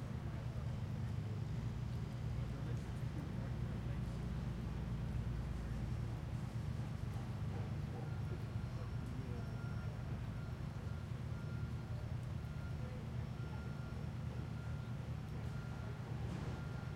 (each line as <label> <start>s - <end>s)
People 6.9s - 16.9s